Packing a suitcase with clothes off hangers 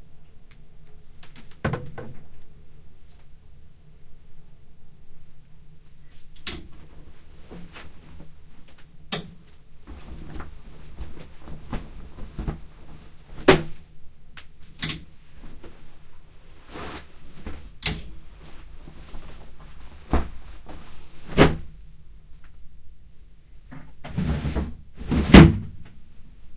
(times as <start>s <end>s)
9.9s 13.8s